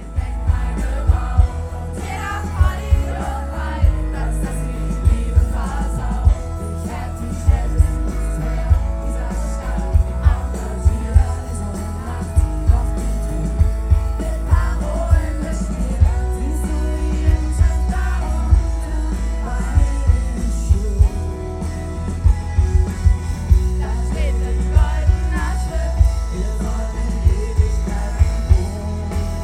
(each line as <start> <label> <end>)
0.0 short beneficial concert 29.4